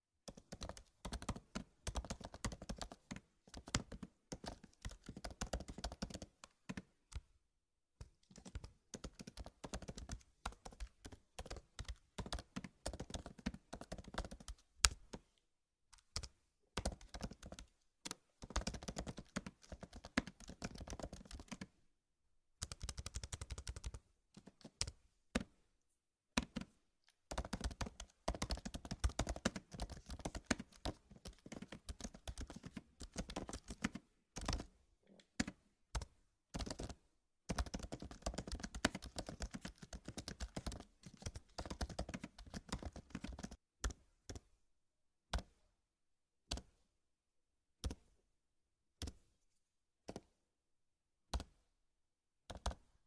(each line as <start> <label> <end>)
0.3 Computer keyboard typing and keystrokes 7.3
8.0 Computer keyboard typing and keystrokes 15.2
16.0 Computer keyboard typing and keystrokes 21.7
22.6 Computer keyboard typing and keystrokes 25.5
26.4 Computer keyboard typing and keystrokes 26.7
27.3 Computer keyboard typing and keystrokes 44.5
46.5 Computer keyboard typing and keystrokes 46.8
47.8 Computer keyboard typing and keystrokes 48.1
51.3 Computer keyboard typing and keystrokes 51.6
52.5 Computer keyboard typing and keystrokes 52.9